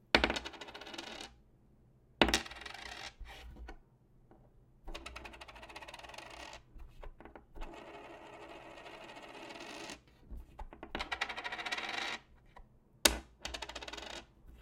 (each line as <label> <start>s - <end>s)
Coin 0.2s - 1.3s
Coin 2.4s - 3.2s
Coin 5.1s - 6.6s
Coin 7.7s - 10.0s
Coin 11.0s - 12.2s
Coin 13.5s - 14.2s